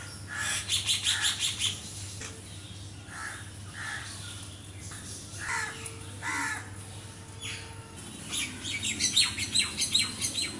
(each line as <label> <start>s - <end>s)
crow 5.4s - 6.7s